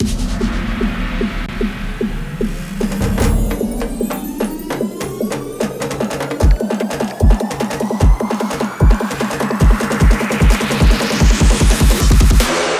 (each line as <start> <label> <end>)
0.0 riser 7.8
0.0 drum 12.7